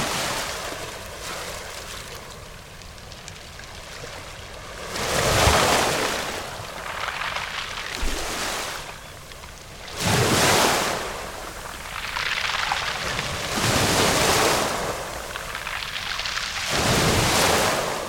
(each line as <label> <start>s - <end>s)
Clawing wave action 3.8s - 18.0s